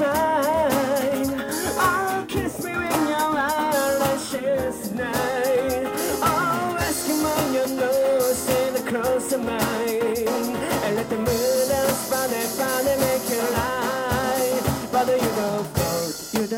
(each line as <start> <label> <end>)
0.0 Music from a band in the street singing in English 16.5